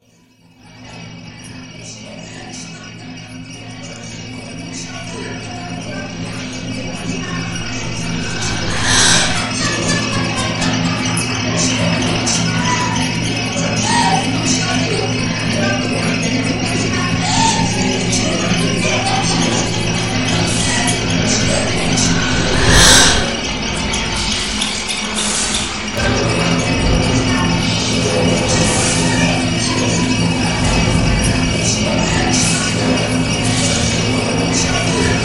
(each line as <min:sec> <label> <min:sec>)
0:03.1 vocoder 0:35.2